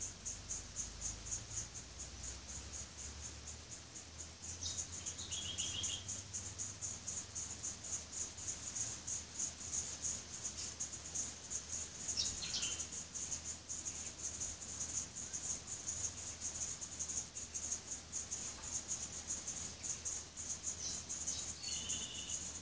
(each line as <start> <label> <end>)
0.0 Cicadas click and sing loudly 22.6
0.0 fairy wren 22.6
4.4 butcher birds 6.3
6.9 butcher birds 22.6